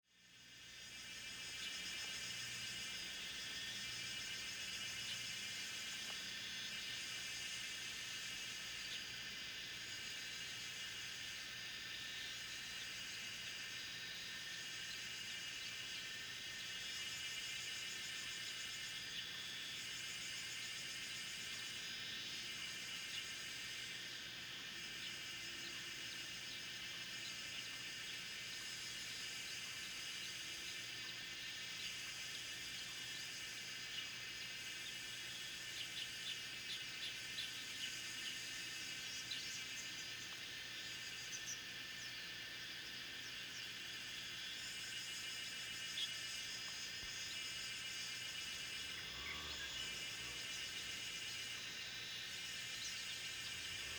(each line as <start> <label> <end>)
0.1 Cicada sounds 53.9
12.4 Bird sounds 53.9